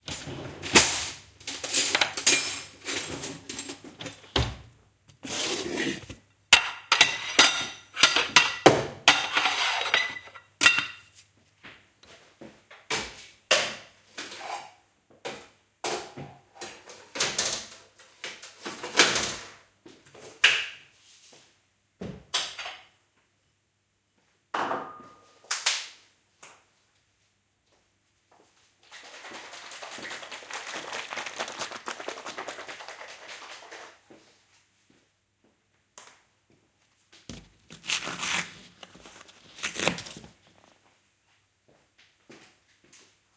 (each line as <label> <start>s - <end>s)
Clattering about in the kitchen drawer to get spoons out 0.1s - 4.2s
pouring it into a bowl 28.8s - 34.0s
Shaking a carton of soup up 28.8s - 34.0s
ripping the top off 37.3s - 40.6s